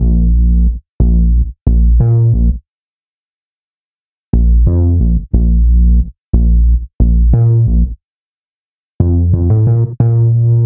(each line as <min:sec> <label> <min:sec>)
0:00.0 music 0:02.7
0:04.3 music 0:08.0
0:09.0 music 0:10.6